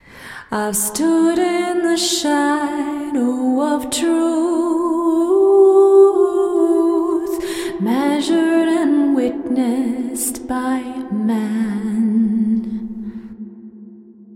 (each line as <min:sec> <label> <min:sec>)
0:00.3 woman singing 0:13.4